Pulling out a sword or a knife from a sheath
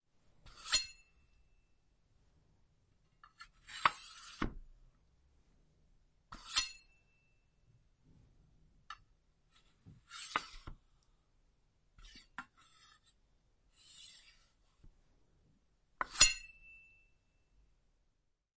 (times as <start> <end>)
0.4 1.0, 3.4 4.6, 6.3 6.9, 10.0 10.8, 13.8 14.5